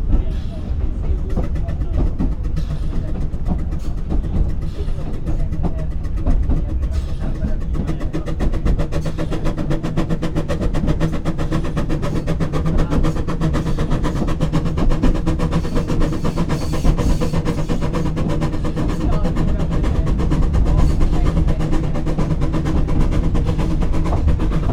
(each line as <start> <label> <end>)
0.0 narrow guage steam train makes the easy descent 24.7